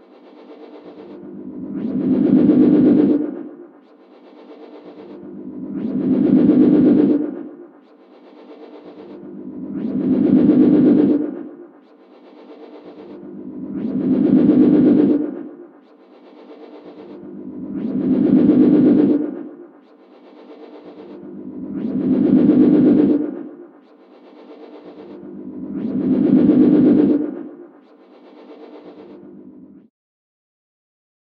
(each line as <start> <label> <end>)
0.5 feedback 27.8